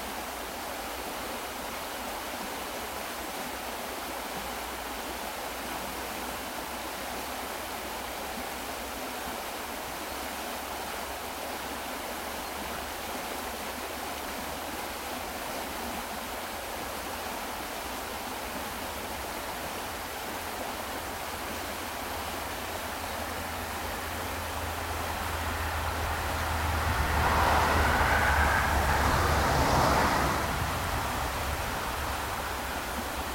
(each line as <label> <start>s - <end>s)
river 0.0s - 33.3s
cars passing on valley road 17.1s - 33.3s